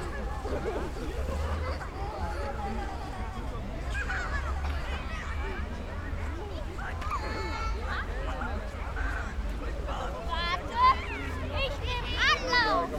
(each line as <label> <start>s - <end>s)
children sledging 0.0s - 12.9s